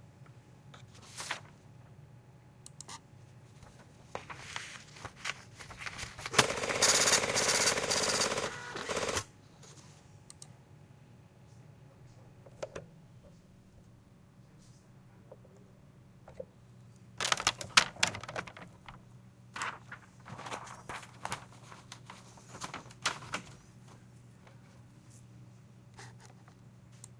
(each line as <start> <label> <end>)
4.1 photocopiers 9.2
4.2 faxes 9.3